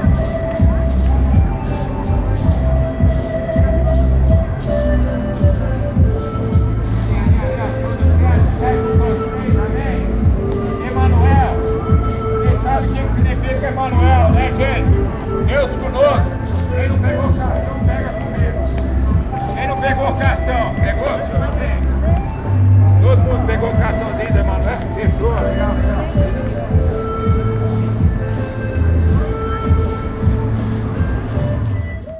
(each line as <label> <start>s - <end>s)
Automóveis 0.0s - 32.1s
Buzinas e Apitos 0.0s - 32.1s
Canto 0.0s - 32.1s
Motocicleta 0.0s - 32.1s
street music 0.0s - 32.1s
Speaks 7.0s - 28.1s